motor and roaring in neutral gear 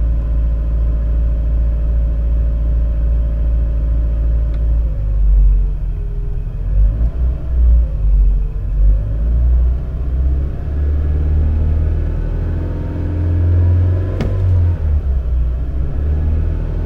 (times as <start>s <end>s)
4.1s 16.8s